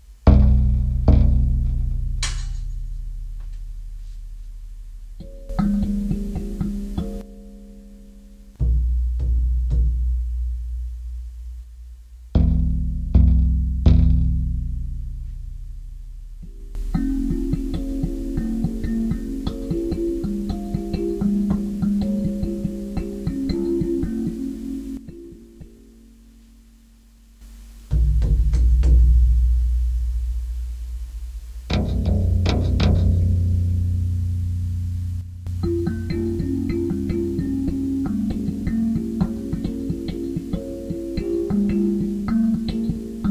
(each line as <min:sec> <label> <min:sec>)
0:00.0 baryton drum 0:04.0
0:00.2 kalimba 0:10.9
0:05.2 baryton drum 0:07.2
0:08.6 baryton drum 0:11.1
0:12.3 own design of string instrument 0:26.5
0:12.3 baryton drum 0:25.8
0:12.4 kalimba 0:43.3
0:27.4 own design of string instrument 0:43.3
0:27.9 baryton drum 0:43.3